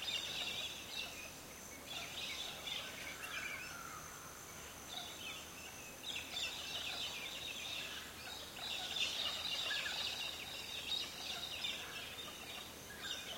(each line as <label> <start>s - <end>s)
insects 0.0s - 13.3s